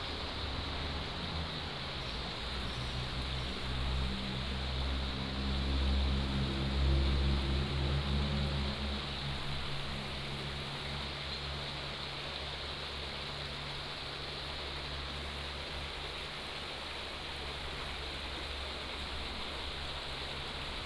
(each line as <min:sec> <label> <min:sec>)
0:00.0 water streams 0:20.8